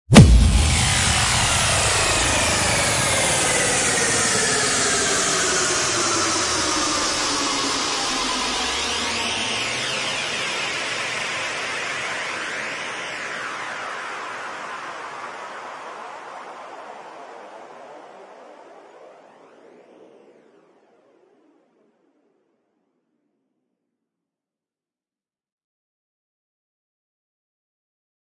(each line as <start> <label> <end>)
0.1 Boom Drop 4.0